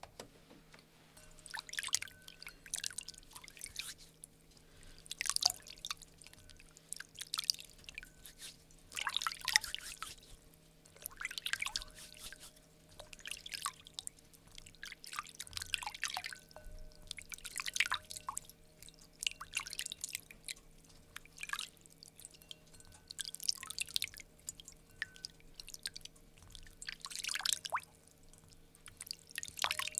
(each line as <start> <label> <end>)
0.4 Hands through water in ceramic bowl 29.9
1.2 drip 29.9
3.7 Hands rub together 4.1
8.2 Hands rub together 8.7
9.5 Hands rub together 10.5
11.7 Hands rub together 12.6